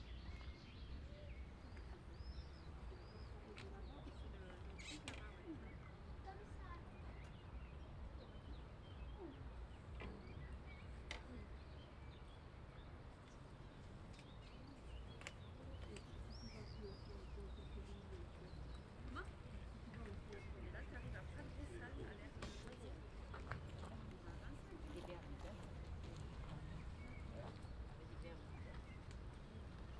0.0s Triathlon event 29.9s
15.2s crowd 29.9s

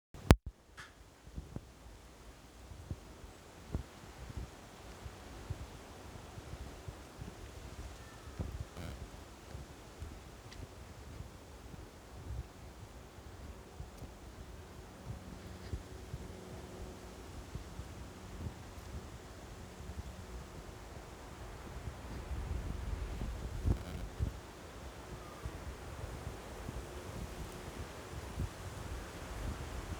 0.2s Wind 29.9s

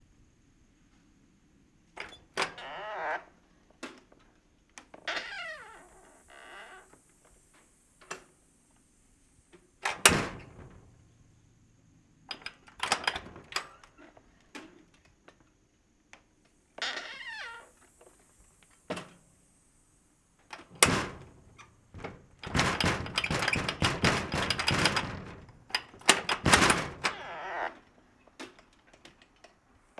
2.0s Creaking glass door opening and closing 3.4s
4.9s Creaking glass door opening and closing 7.0s
9.8s Creaking glass door opening and closing 11.1s
9.9s Door being rattled aggressively 11.0s
12.3s Creaking glass door opening and closing 14.8s
12.8s Door being rattled aggressively 13.6s
16.8s Creaking glass door opening and closing 18.1s
20.5s Creaking glass door opening and closing 29.6s
20.6s Door being rattled aggressively 27.6s

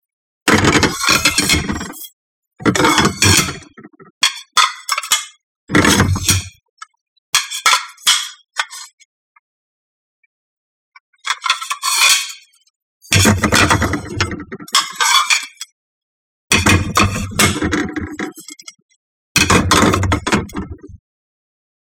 0.5s porcelain-plates-stacking 6.6s
11.3s porcelain-plates-stacking 12.5s
13.1s porcelain-plates-stacking 15.7s
16.5s porcelain-plates-stacking 18.7s
19.4s porcelain-plates-stacking 21.0s

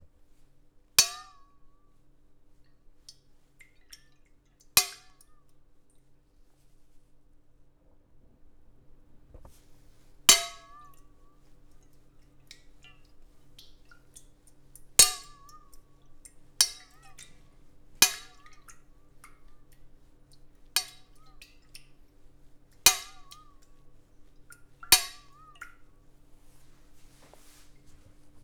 1.0s Small saucepan with water 1.7s
2.4s Small saucepan with water 6.2s
9.2s Small saucepan with water 28.4s

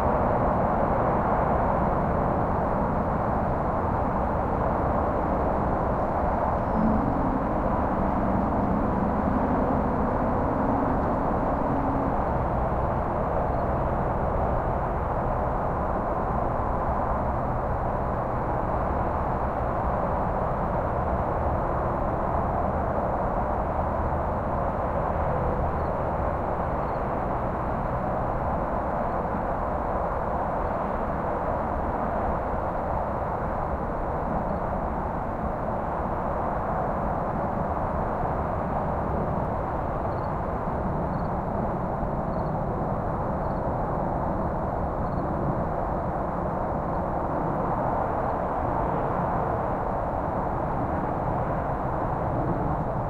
0.0s highway traffic distant far or nearby haze 29.9s
0.4s crickets 53.0s

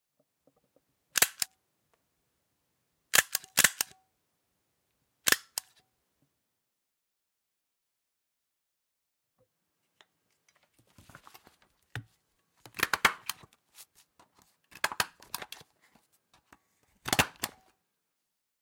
10.3s Staplering papers 17.7s

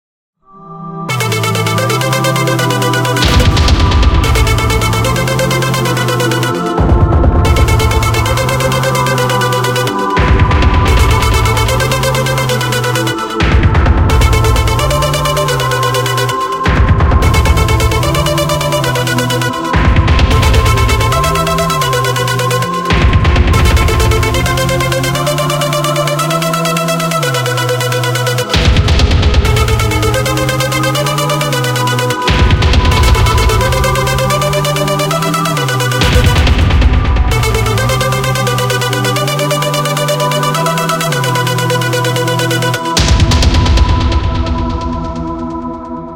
0.6s Angelic Voice 46.1s
1.1s Drums 46.1s

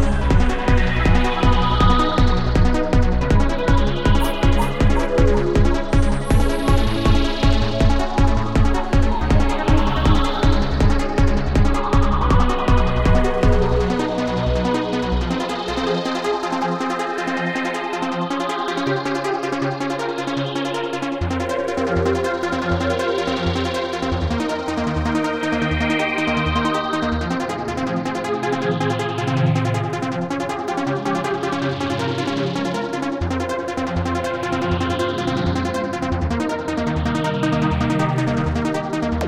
0.0s underwater music 29.7s

